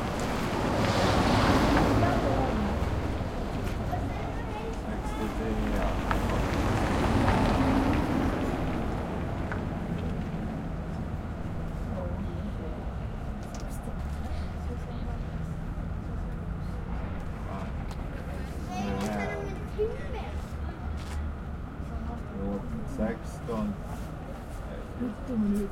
busses are coming and going 0.0 - 25.7
cars 0.0 - 25.7
people are talking 1.0 - 25.7

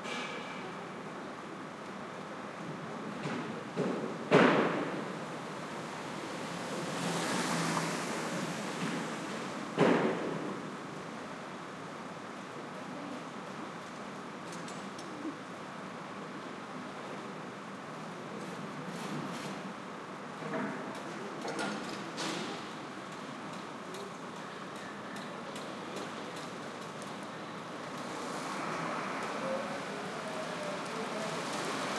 truck 0.0 - 1.8
truck 26.0 - 31.9

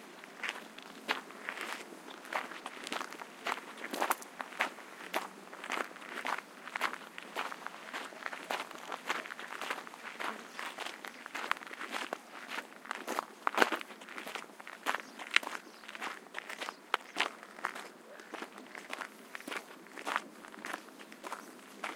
Walking on a Gravel Path 0.0 - 21.9

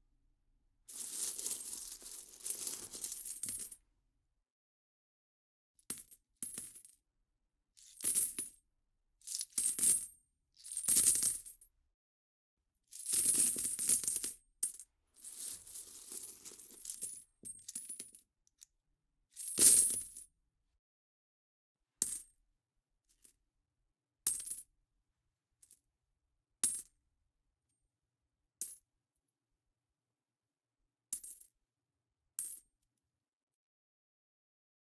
Dropping small and large amounts of coins into a pile of coins 0.9 - 3.8
Dropping small and large amounts of coins into a pile of coins 15.2 - 18.1

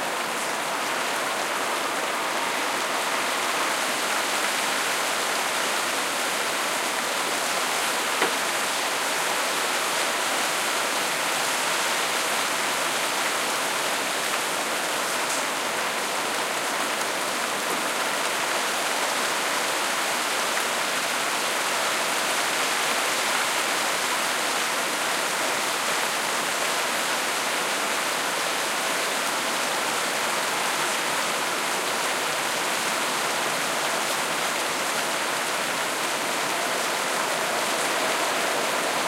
Heavy rain 0.0 - 39.0
wind 0.0 - 39.0

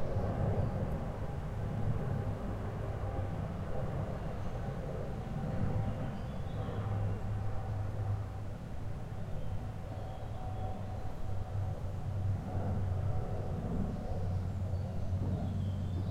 Jet 0.0 - 16.1

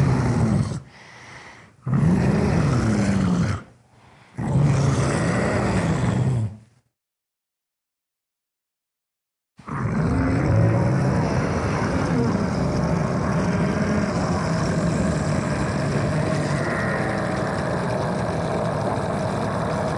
Zombie/Monster roars 0.0 - 1.0
growls 0.0 - 1.0
Scream 0.0 - 3.7
growls 1.8 - 6.7
Zombie/Monster roars 1.8 - 3.7
Scream 4.3 - 6.6
Zombie/Monster roars 4.4 - 6.6
growls 9.6 - 19.9
Scream 9.6 - 19.9
Zombie/Monster roars 9.6 - 19.9
grunts 9.7 - 19.9

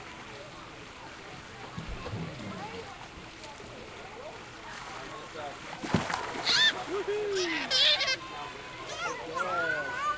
splashing 1.4 - 8.2
kids shouting 6.4 - 10.1

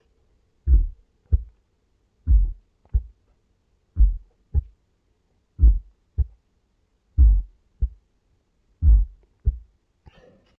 Heartbeat 0.7 - 1.6
Heartbeat 2.2 - 3.2
Heartbeat 4.0 - 4.8
Heartbeat 5.6 - 6.4
Heartbeat 7.2 - 8.0
Heartbeat 8.8 - 9.7

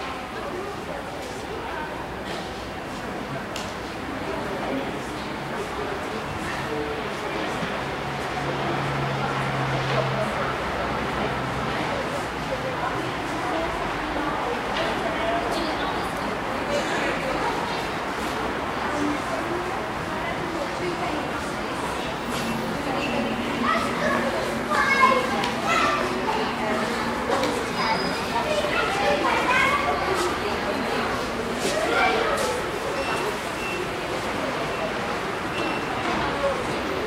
General conversation 9.8 - 37.0

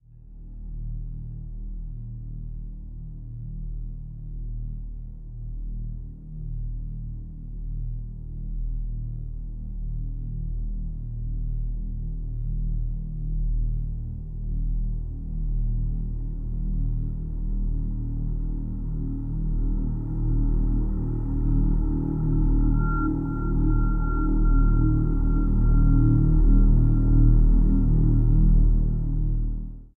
low tone 19.2 - 29.8

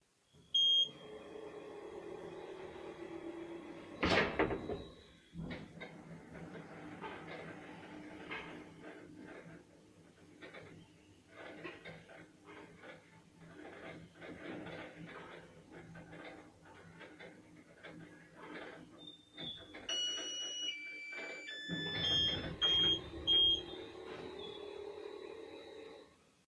background noise of it moving 0.2 - 26.4

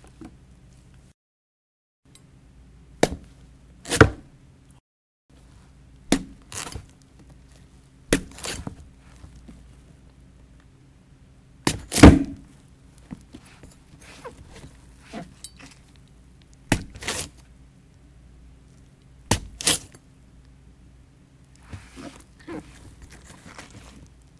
stabbing a watermelon with a butter knife 6.1 - 6.9
stabbing a watermelon with a butter knife 8.1 - 8.8
stabbing a watermelon with a butter knife 11.6 - 12.4
stabbing a watermelon with a butter knife 16.7 - 17.4
stabbing a watermelon with a butter knife 19.3 - 20.0

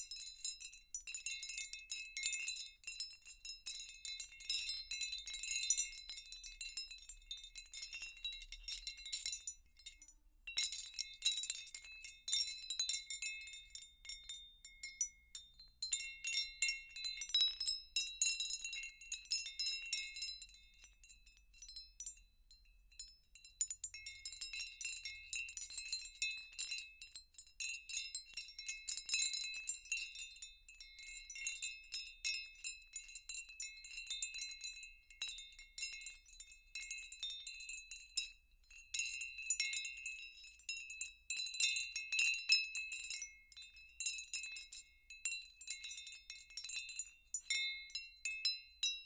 Glassy Stone Windchime sounds 0.0 - 49.0

